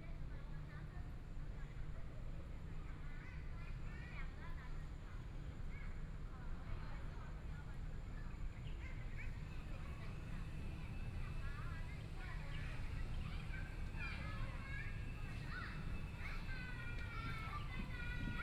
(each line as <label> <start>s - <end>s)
Traffic Sound 9.4s - 18.4s
Birds sound 11.9s - 18.4s